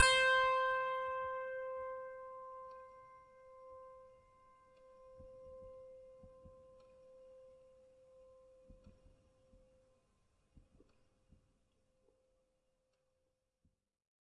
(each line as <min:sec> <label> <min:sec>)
0:00.0 piano strings played with a finger 0:04.2